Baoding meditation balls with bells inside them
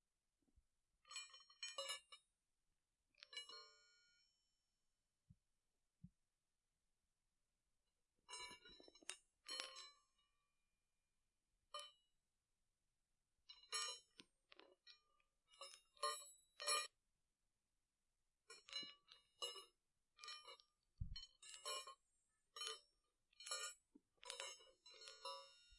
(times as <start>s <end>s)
3.3s 4.5s, 8.3s 10.3s, 18.4s 25.7s